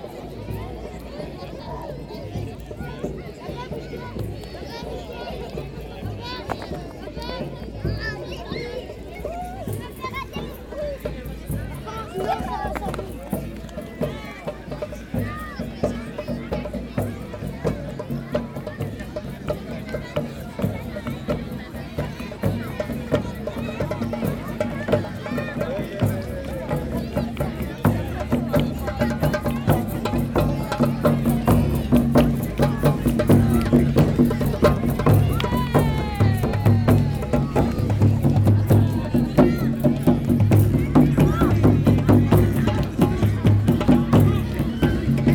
0.0s people are celebrating 45.3s

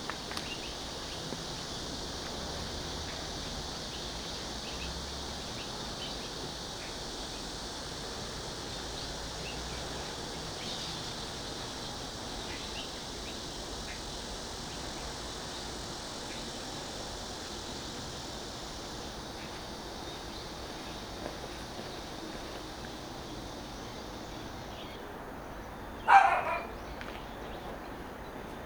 26.1s Dog barking 26.8s

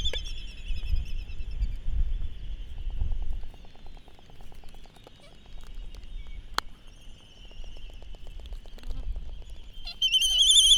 0.0s red-tailed tropic birds 10.7s

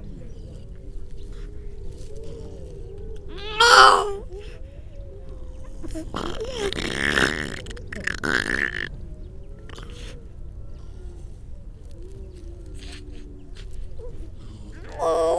0.0s grey seals 15.3s
3.3s crow 4.6s
5.8s crow 8.9s
14.5s crow 15.3s

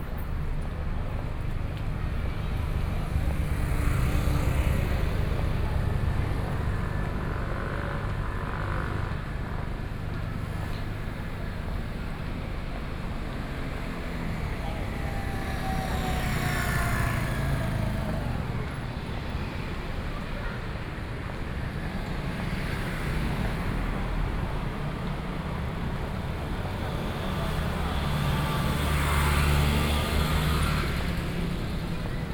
0.0s People walking in the street 32.3s
0.0s Traffic Noise 32.3s

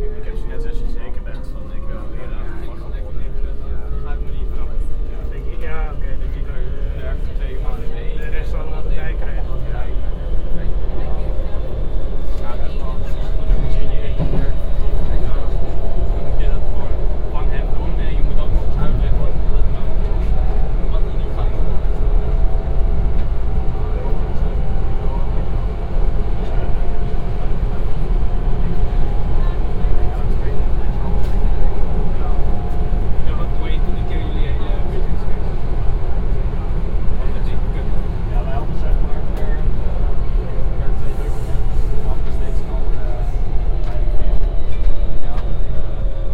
0.0s metro platform 46.3s
0.0s metro ride 46.3s

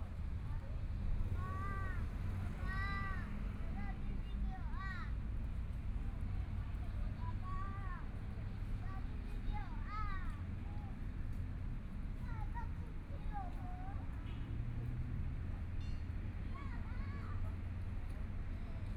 0.0s Traffic Sound 18.9s

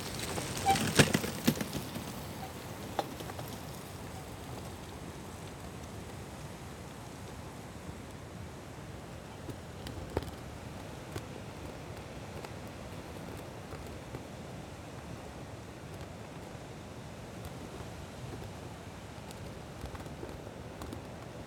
0.0s bike passing 7.3s
0.0s flag flapping in the wind 21.4s

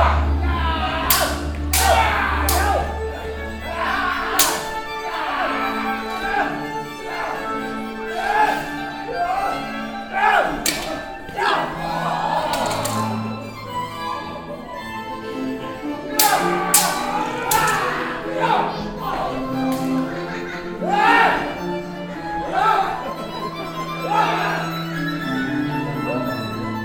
0.0s audience reactions 6.6s
0.0s renaissance background music 26.8s
0.2s actors screams 3.0s
16.2s actors screams 19.4s

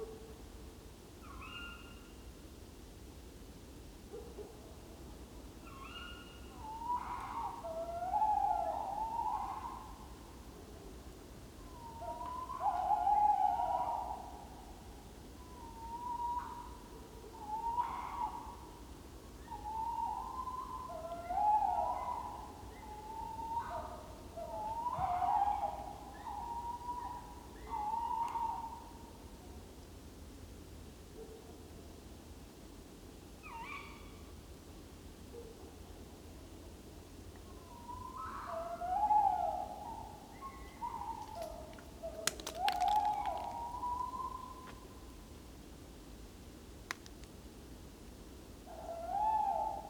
15.4s male owl 18.6s
19.5s male owl 28.9s
37.7s male owl 44.8s
48.7s male owl 49.8s

